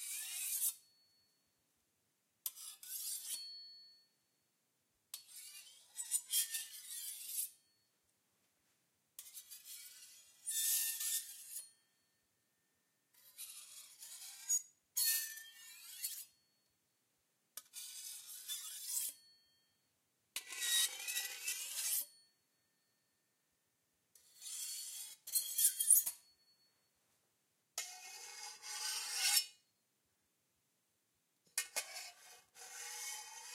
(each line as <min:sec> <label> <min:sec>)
0:02.5 knife-scrapes 0:03.6
0:27.8 knife-scrapes 0:29.6
0:31.5 knife-scrapes 0:33.5